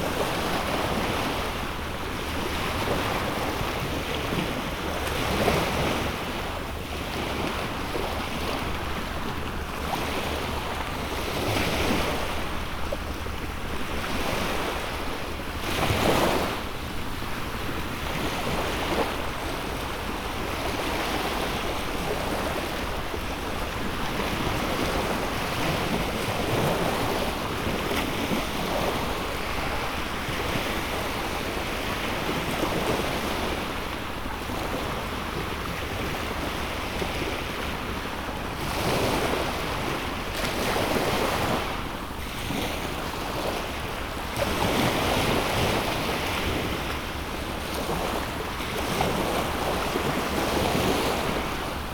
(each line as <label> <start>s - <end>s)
Gently rolling waves 7.1s - 51.9s